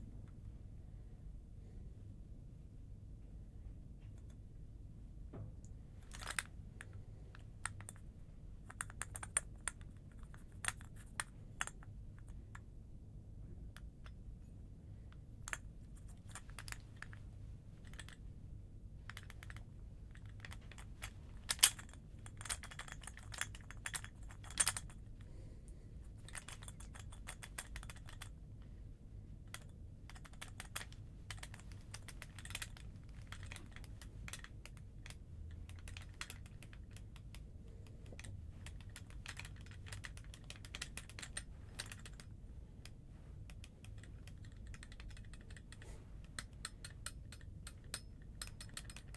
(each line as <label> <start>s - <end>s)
Metal Gun Shaking 6.0s - 6.5s
Metal Gun Shaking 20.2s - 25.0s
Metal Gun Shaking 26.2s - 28.3s
Metal Gun Shaking 29.5s - 37.0s
Metal Gun Shaking 38.1s - 42.3s